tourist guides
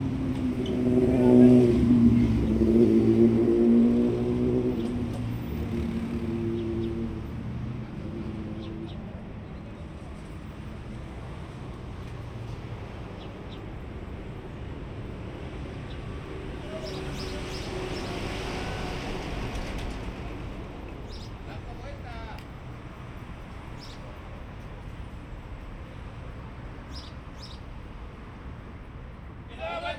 16.3s 29.9s

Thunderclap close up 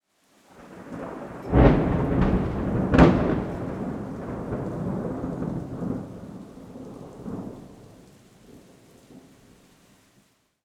0.6s 8.0s

